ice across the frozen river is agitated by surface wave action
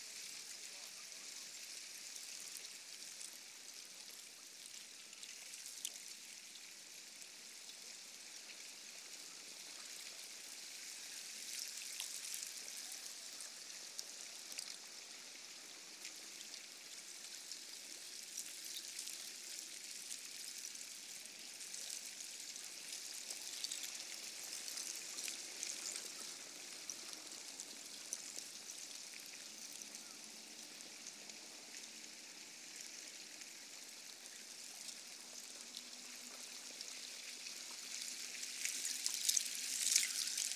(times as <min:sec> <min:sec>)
0:31.9 0:40.5